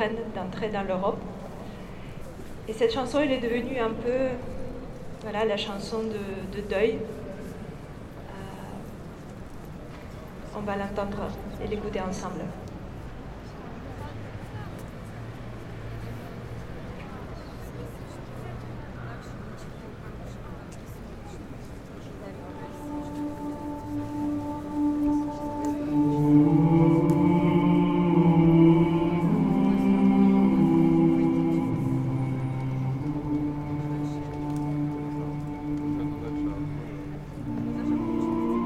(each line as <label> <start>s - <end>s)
mourning song 22.5s - 38.6s